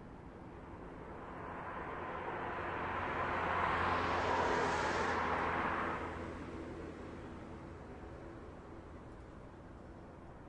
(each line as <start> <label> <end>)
0.0 cars drive slowly on a wet and snowy street 10.4